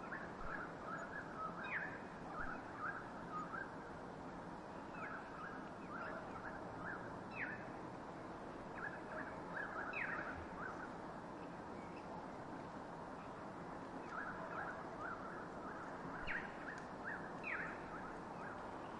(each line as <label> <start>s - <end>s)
birds 0.0s - 3.9s
birds 4.7s - 7.8s
birds 8.6s - 12.2s
birds 13.1s - 18.9s